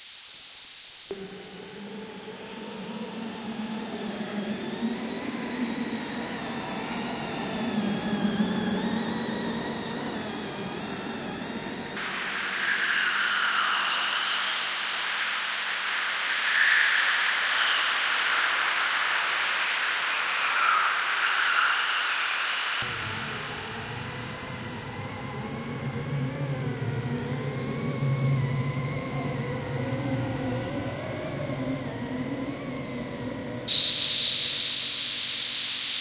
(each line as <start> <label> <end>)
3.2 broad spectrum drone 35.8